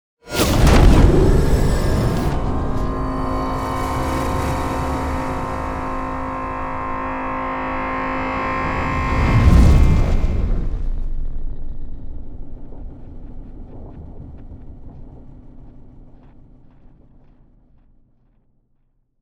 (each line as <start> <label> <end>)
0.3 whoosh 12.6
0.3 riser 13.6
0.3 boom 15.6